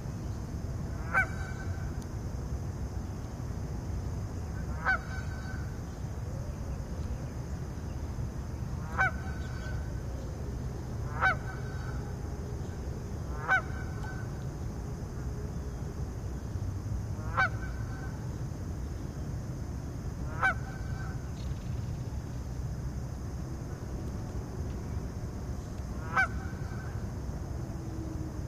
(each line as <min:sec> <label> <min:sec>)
0:01.0 Geese 0:01.8
0:04.8 Geese 0:05.6
0:04.8 Birds 0:10.4
0:08.8 Geese 0:09.7
0:11.1 Geese 0:12.0
0:13.4 Geese 0:14.2
0:17.2 Geese 0:18.1
0:20.3 Geese 0:21.2
0:26.0 Geese 0:26.9